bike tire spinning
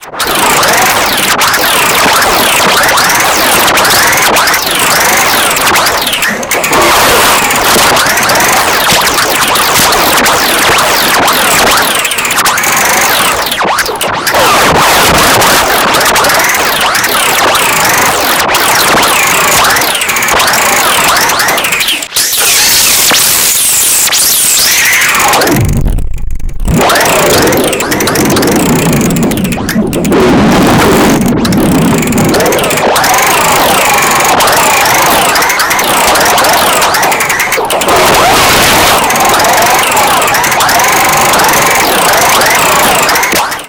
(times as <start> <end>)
26.9 30.2, 30.9 43.0